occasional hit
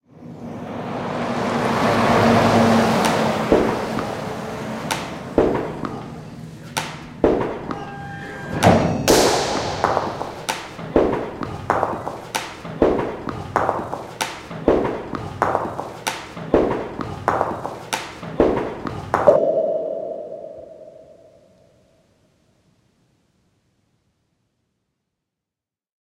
0:08.6 0:11.4, 0:19.3 0:21.5

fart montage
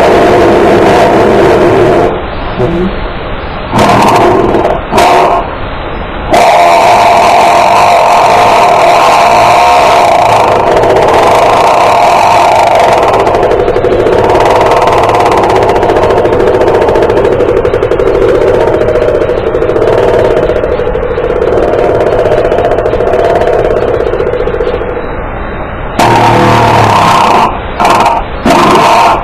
0:03.7 0:05.4, 0:26.0 0:29.2

